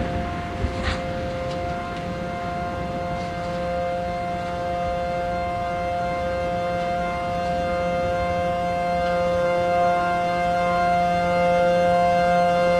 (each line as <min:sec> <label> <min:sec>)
0:00.0 Thunder 0:09.4
0:00.0 Siren 0:12.7